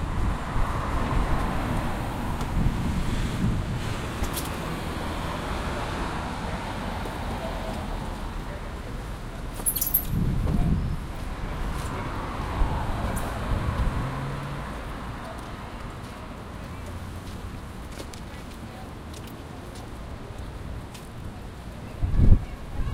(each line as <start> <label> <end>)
0.0 traffic 22.9